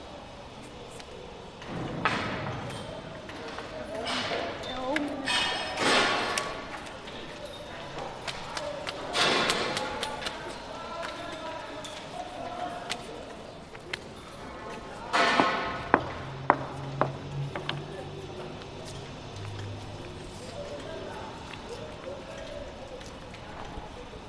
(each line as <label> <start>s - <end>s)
Construction of new NUST parking garage 0.0s - 24.2s